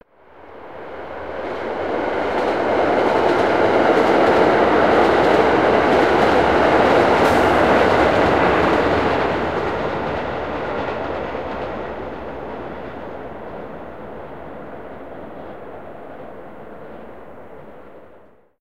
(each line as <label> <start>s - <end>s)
commuter rail passing by 0.2s - 18.5s